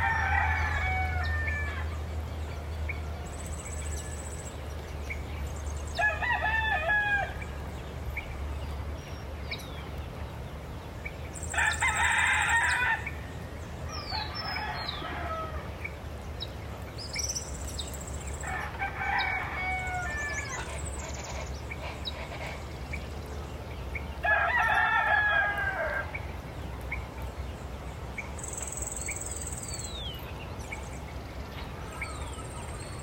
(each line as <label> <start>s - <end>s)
heavy traffic 0.0s - 33.0s
domestic animals 17.0s - 23.3s